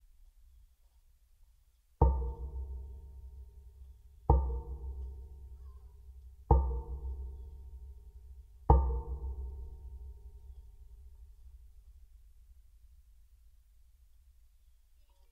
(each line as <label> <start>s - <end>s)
lifted step is hit with a yarn mallet 2.0s - 3.4s
lifted step is hit with a yarn mallet 4.3s - 5.6s
lifted step is hit with a yarn mallet 6.5s - 8.0s
lifted step is hit with a yarn mallet 8.7s - 10.6s